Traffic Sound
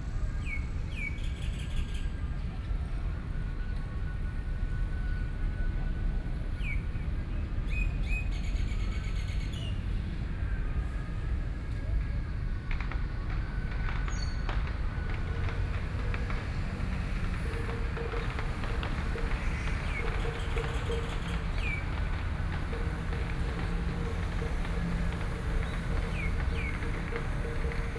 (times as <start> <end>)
8.5 27.9